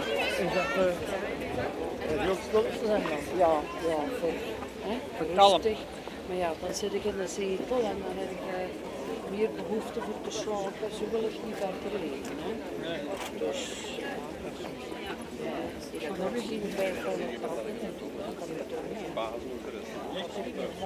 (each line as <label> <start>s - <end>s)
discussing and laughing 0.0s - 20.8s
walking in the old cobblestones streets 0.0s - 20.8s